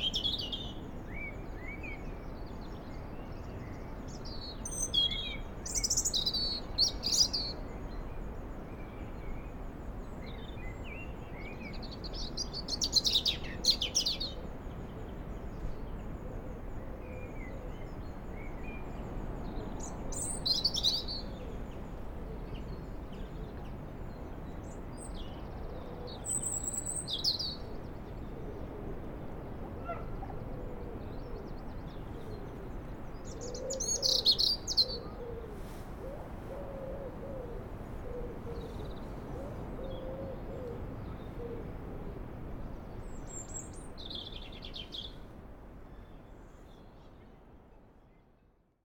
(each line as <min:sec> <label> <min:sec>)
0:00.0 distant sea 0:48.0